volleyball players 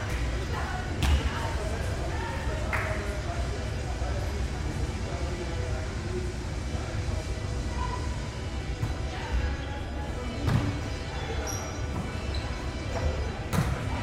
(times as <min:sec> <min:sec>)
0:00.0 0:03.2